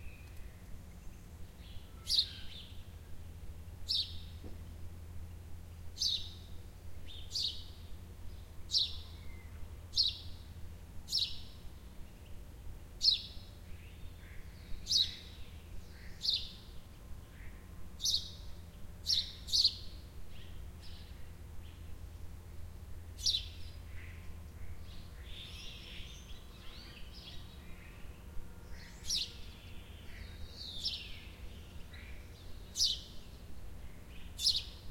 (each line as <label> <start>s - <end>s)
birds singing 0.0s - 3.1s
faint background hum from the pool pumps 0.0s - 34.9s
birds singing 3.8s - 4.4s
birds singing 5.7s - 22.0s
birds singing 23.1s - 34.9s